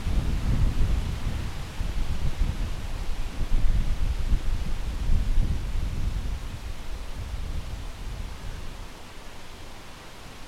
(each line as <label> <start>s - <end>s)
vent 0.0s - 10.4s